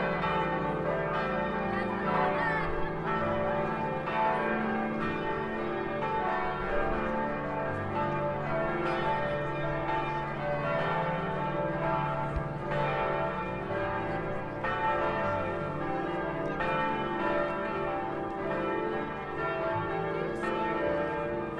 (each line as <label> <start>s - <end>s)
Bell Tower Bells 0.0s - 21.5s